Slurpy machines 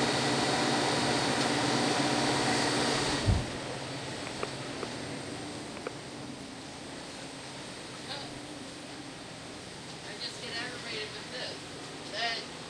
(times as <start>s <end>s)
0.0s 3.5s